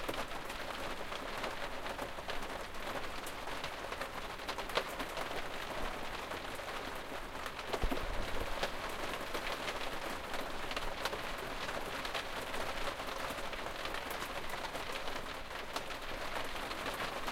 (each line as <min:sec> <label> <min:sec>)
0:00.0 raining inside a motorhome 0:17.3